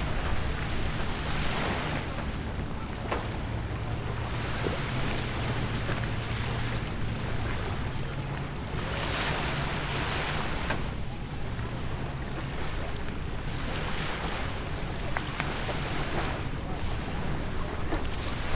0.0s Beach Sound 13.0s

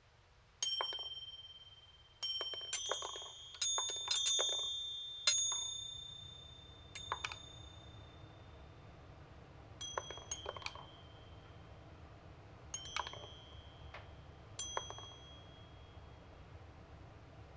0.6s Magnetic Tings 8.8s
9.8s Magnetic Tings 11.6s
12.7s Magnetic Tings 16.2s

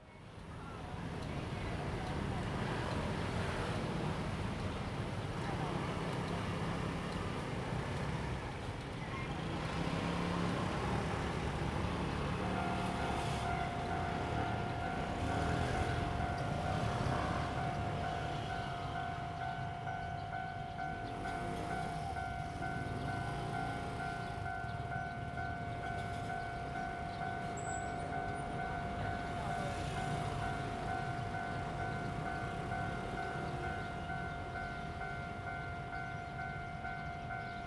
0.3s Traffic sound 37.6s
0.8s Train traveling through 37.6s

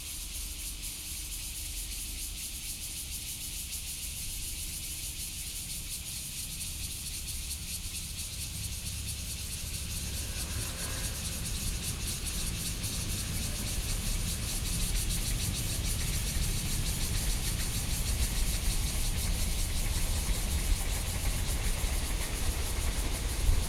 0.0s Cicadas 23.6s
5.4s Train traveling through 23.6s

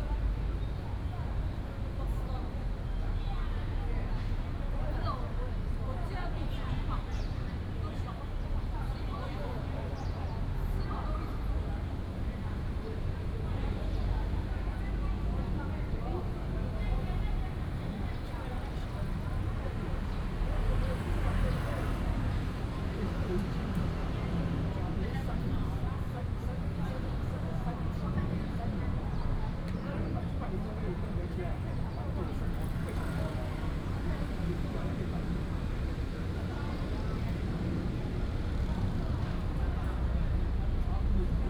11.4s Traffic Sound 41.4s

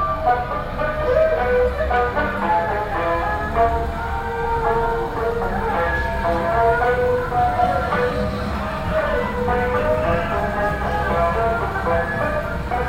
0.0s Walking on the road 12.8s

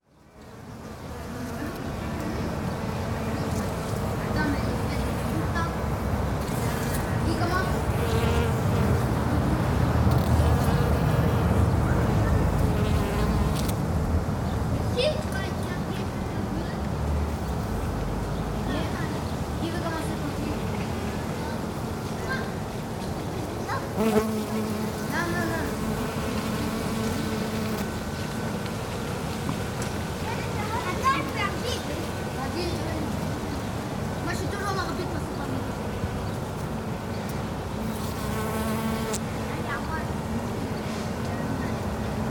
0.5s bees 13.7s
1.4s Children 10.9s
14.5s Children 24.2s
24.0s bees 29.7s
29.4s Children 37.6s
37.8s bees 39.2s

